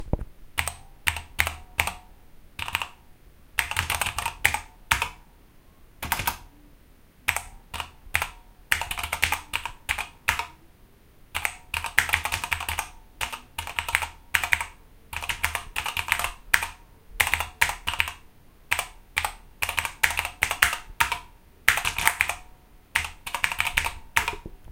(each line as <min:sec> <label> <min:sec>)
0:00.0 Keyboard typing 0:02.0
0:02.6 Keyboard typing 0:03.0
0:03.6 Keyboard typing 0:05.2
0:06.0 Keyboard typing 0:06.5
0:07.3 Keyboard typing 0:10.6
0:11.3 Keyboard typing 0:24.7